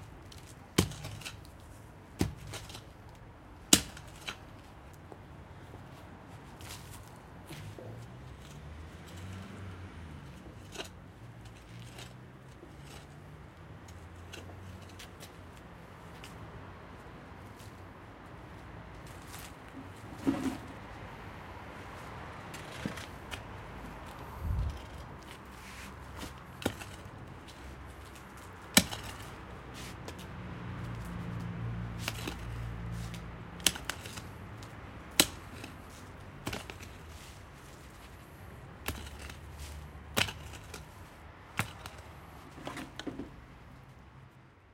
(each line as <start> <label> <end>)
0.0 fairly busy street 44.7
6.6 hoe who plows the ground 15.3
19.0 hoe who plows the ground 20.9
22.0 hoe who plows the ground 43.3